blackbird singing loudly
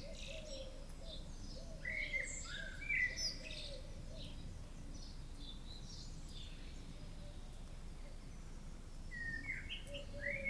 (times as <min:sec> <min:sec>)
0:00.0 0:03.8, 0:09.1 0:10.4